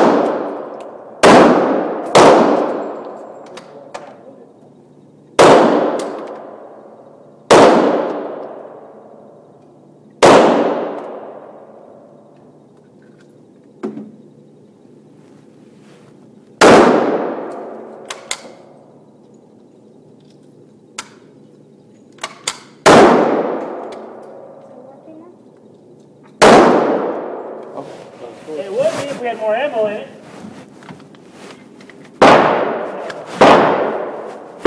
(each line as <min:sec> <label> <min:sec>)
0:00.0 Various handguns being shot 0:03.2
0:05.4 Various handguns being shot 0:06.6
0:07.5 Various handguns being shot 0:08.9
0:10.2 Various handguns being shot 0:11.6
0:16.6 Various handguns being shot 0:18.6
0:22.2 Various handguns being shot 0:24.5
0:26.4 Various handguns being shot 0:27.4
0:32.2 Various handguns being shot 0:34.6